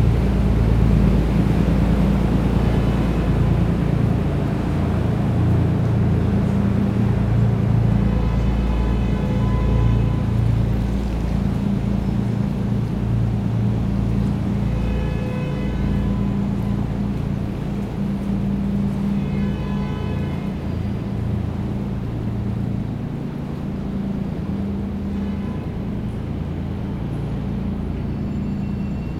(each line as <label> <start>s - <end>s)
container ship called Alain (IMO 226001470) is passing 0.0s - 29.1s